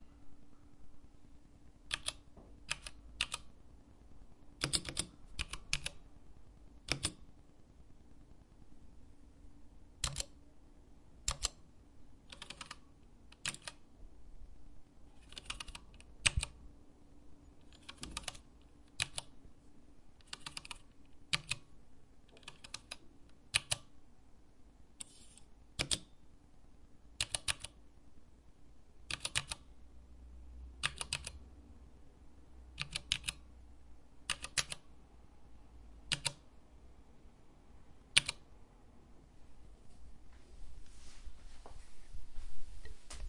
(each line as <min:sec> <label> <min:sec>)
0:01.9 Mechanical keyboard clicking 0:03.5
0:04.6 Mechanical keyboard clicking 0:06.0
0:06.8 Mechanical keyboard clicking 0:07.2
0:10.0 Mechanical keyboard clicking 0:10.4
0:11.2 Mechanical keyboard clicking 0:11.6
0:12.3 Mechanical keyboard clicking 0:13.8
0:15.2 Mechanical keyboard clicking 0:16.6
0:17.6 Mechanical keyboard clicking 0:19.4
0:20.2 Mechanical keyboard clicking 0:21.7
0:22.4 Mechanical keyboard clicking 0:23.9
0:25.8 Mechanical keyboard clicking 0:26.1
0:27.2 Mechanical keyboard clicking 0:27.8
0:29.1 Mechanical keyboard clicking 0:29.6
0:30.8 Mechanical keyboard clicking 0:31.4
0:32.8 Mechanical keyboard clicking 0:33.4
0:34.2 Mechanical keyboard clicking 0:34.8
0:36.0 Mechanical keyboard clicking 0:36.4
0:38.1 Mechanical keyboard clicking 0:38.4